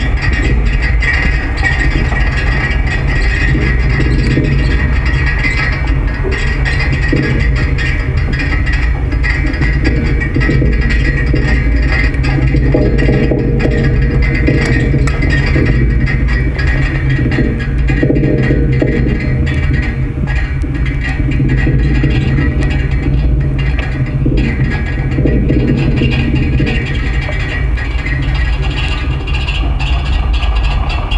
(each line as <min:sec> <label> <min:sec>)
0:00.0 people walk making the structure shake slightly 0:31.1